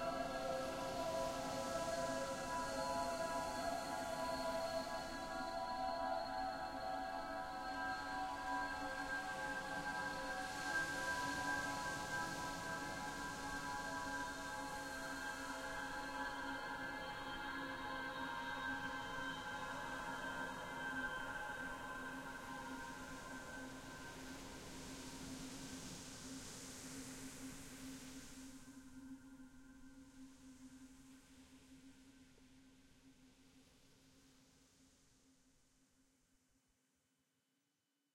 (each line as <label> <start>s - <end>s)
ocean 0.0s - 31.4s